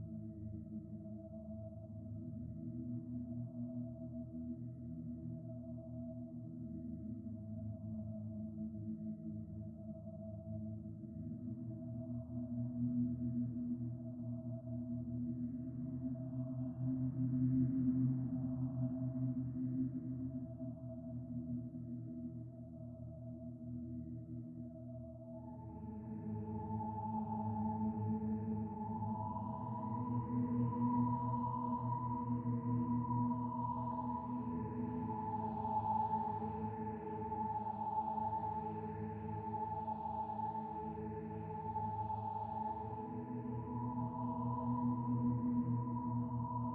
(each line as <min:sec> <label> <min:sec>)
0:00.0 synthesizer 0:46.7